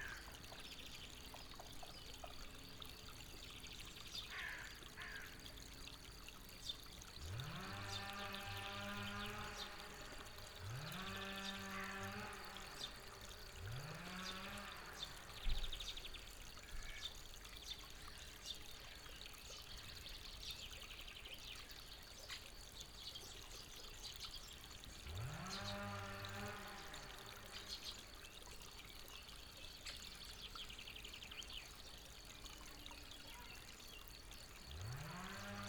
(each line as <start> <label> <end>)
7.1 chainsaw at work 15.8
24.9 chainsaw at work 27.9
34.6 chainsaw at work 35.6